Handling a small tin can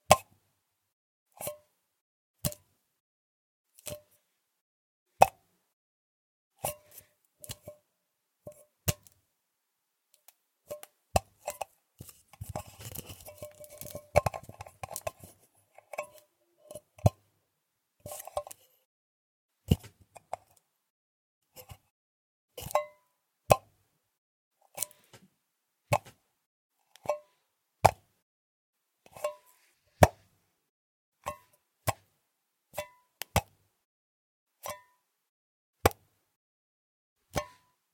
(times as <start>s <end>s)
6.6s 7.8s, 10.7s 17.2s, 18.0s 18.7s, 22.6s 23.0s, 26.9s 27.4s, 29.1s 30.2s, 34.6s 35.0s, 37.3s 37.8s